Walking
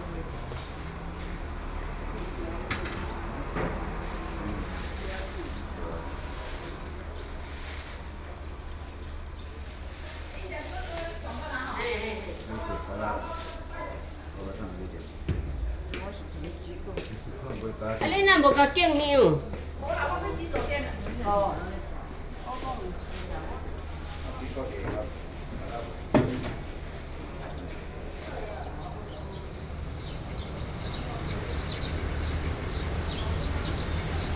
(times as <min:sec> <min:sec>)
0:03.1 0:28.6